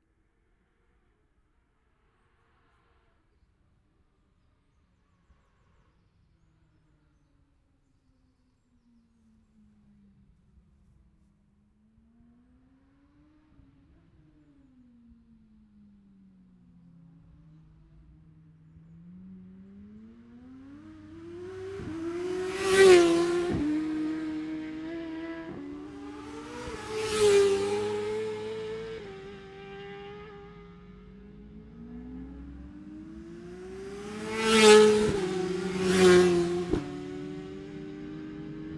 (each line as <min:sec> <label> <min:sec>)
0:12.0 motorcycle road racing 0:38.7